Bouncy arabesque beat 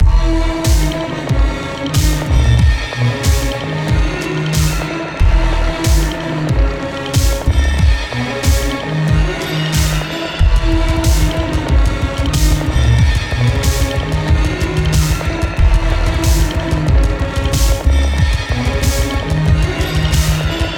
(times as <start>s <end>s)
5.8s 20.7s